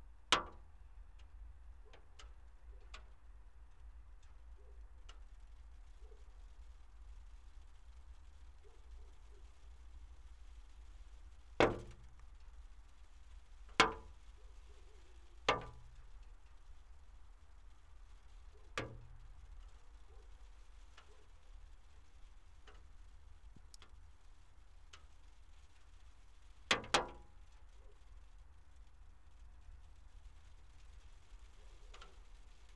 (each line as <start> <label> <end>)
0.4 Melting water drops on windowsill 32.7